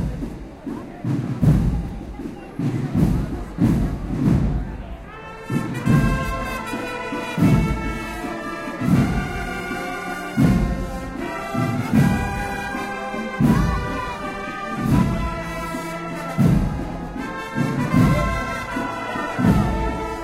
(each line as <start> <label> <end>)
0.0 drums 20.2